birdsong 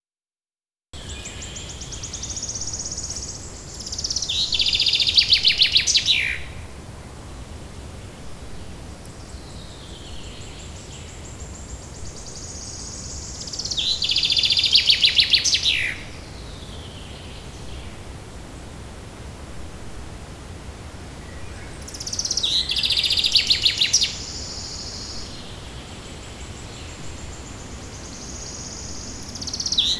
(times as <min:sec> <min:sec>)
0:08.2 0:18.8, 0:21.1 0:29.9